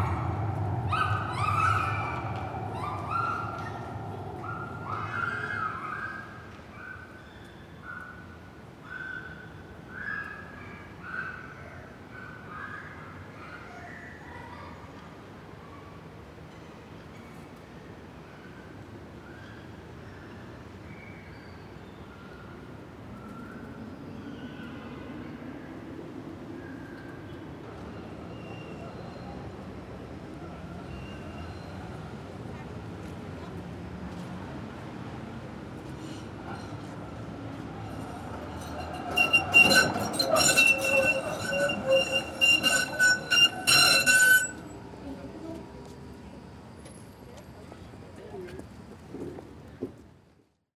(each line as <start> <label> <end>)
32.5 rollen die Strassenbahnen 44.6